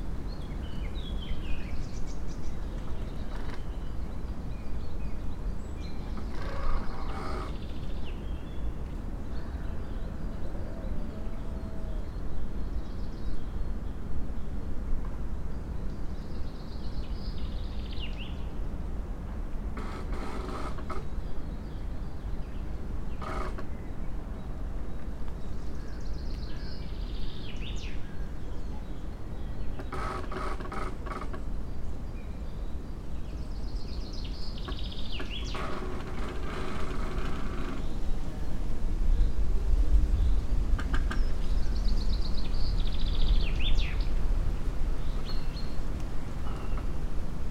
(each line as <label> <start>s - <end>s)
birds 0.0s - 47.5s
spring breeze through tree crowns 0.0s - 47.5s
creaking tree 2.7s - 3.8s
creaking tree 6.1s - 8.0s
creaking tree 19.7s - 21.2s
creaking tree 23.1s - 23.8s
creaking tree 29.7s - 31.6s
creaking tree 34.6s - 38.1s
creaking tree 40.7s - 41.4s
creaking tree 45.2s - 47.2s